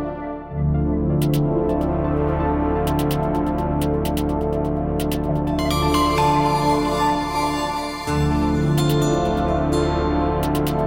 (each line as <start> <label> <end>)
0.0 synth 10.8